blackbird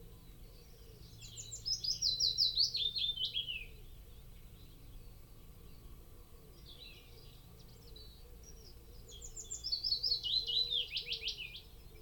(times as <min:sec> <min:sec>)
0:06.5 0:12.0